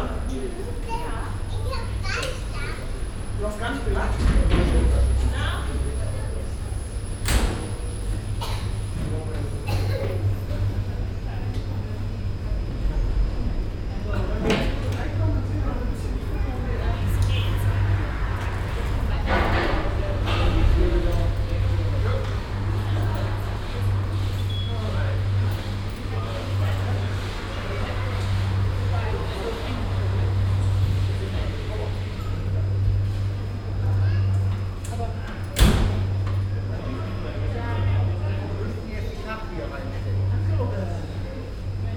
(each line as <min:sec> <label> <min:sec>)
0:00.0 hochfrequentige motorenbetrieb 0:39.1